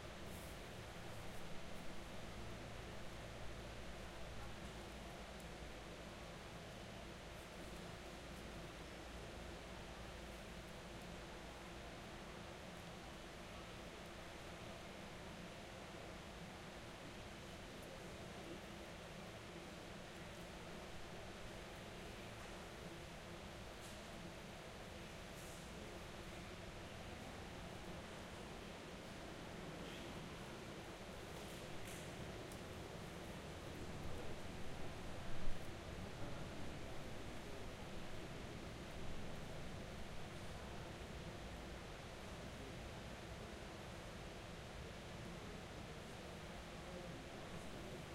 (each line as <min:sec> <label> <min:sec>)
0:00.0 air conditioning 0:48.1